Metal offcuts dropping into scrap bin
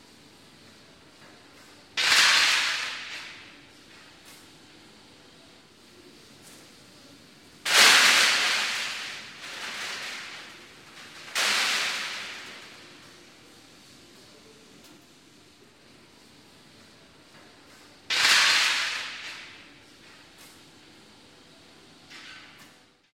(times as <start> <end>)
2.0 3.4, 7.7 12.6, 18.1 19.5